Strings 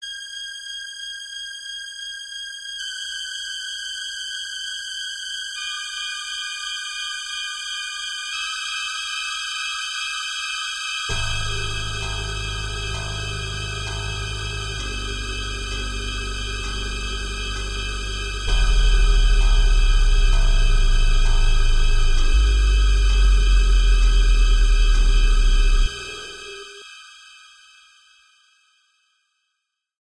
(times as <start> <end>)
11.0 27.2